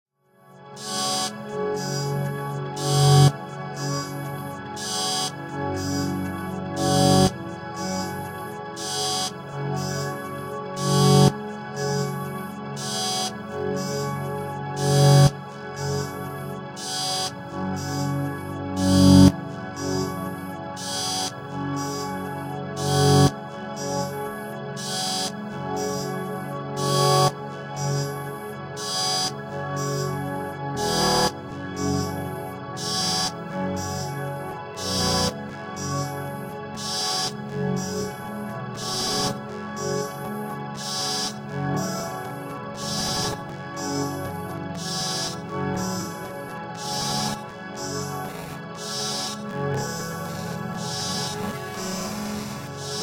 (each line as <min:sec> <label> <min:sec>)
0:00.6 drone 0:53.0